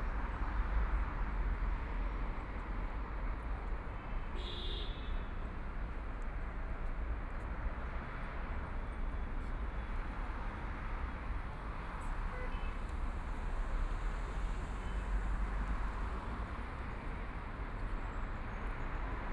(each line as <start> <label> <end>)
0.0 Traffic Sound 19.3